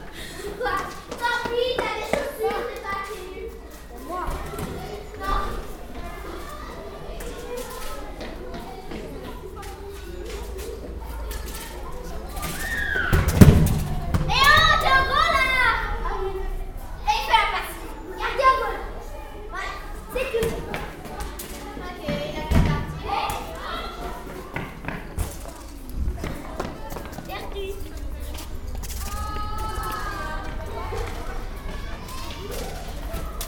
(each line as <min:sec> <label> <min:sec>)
0:00.0 Children playing 0:33.4